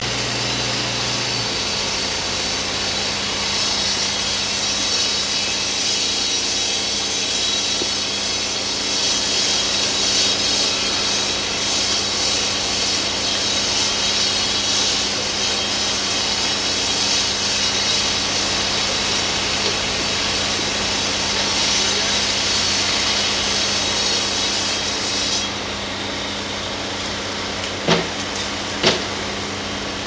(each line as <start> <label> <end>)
0.0 circular saw 30.0